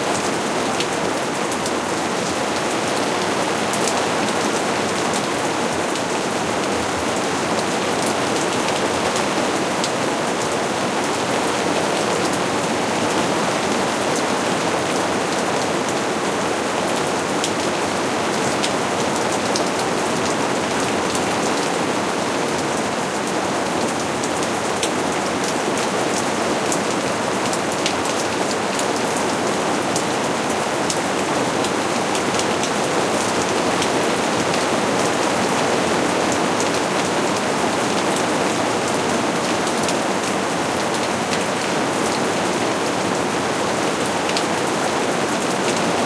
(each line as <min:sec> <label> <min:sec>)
0:00.0 rain falling on a plastic greenhouse roof 0:46.0